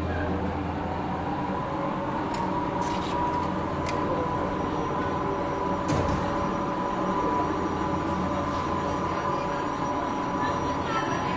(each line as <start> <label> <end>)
0.0 car descends towards lower station 11.3
2.1 entrance doors closing 7.2
2.2 exit doors open 7.3